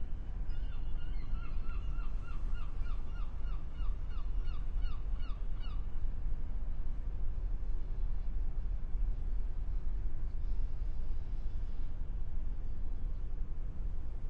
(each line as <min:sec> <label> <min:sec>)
0:00.0 sea 0:14.2